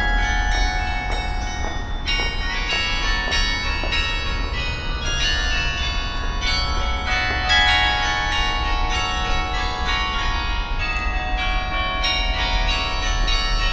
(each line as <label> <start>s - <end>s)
hour bell play of the church 0.0s - 13.7s
steps on the stairway 0.0s - 8.4s